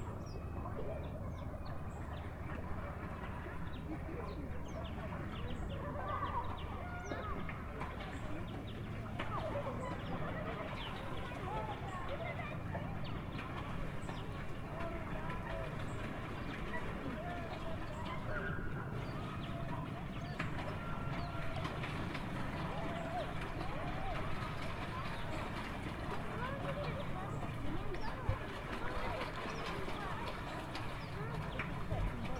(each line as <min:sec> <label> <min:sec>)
0:00.0 paddleboat 0:32.3